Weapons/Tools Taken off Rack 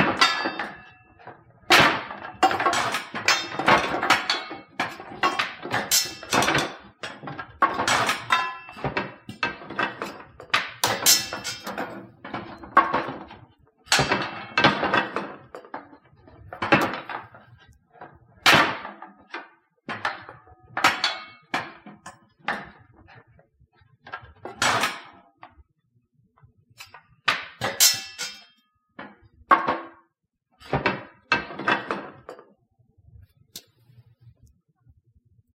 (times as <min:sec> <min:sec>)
0:00.0 0:15.9